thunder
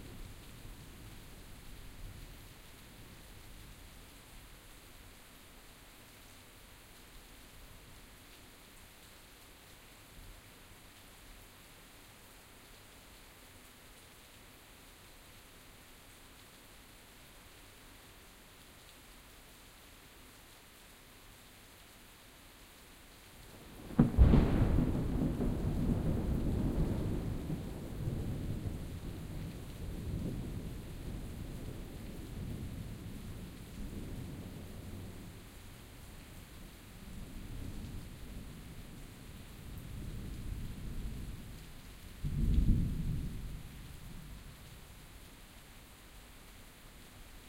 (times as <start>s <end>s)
23.8s 33.1s, 42.2s 43.6s